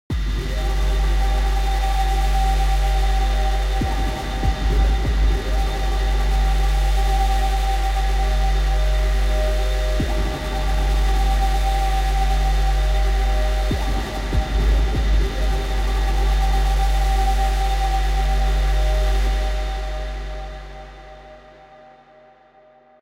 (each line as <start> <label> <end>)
0.1 Synthesized droning bass / pad 23.0